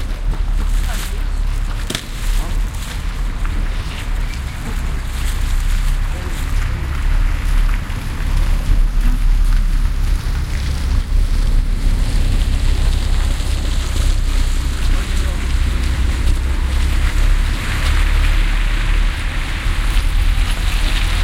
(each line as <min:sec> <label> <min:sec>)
0:00.0 cars 0:21.2
0:12.8 chatter 0:19.2